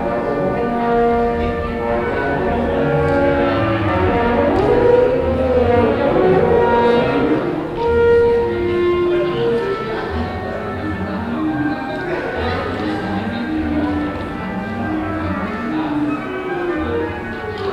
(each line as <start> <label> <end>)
0.0 orchestra rehearsal 17.7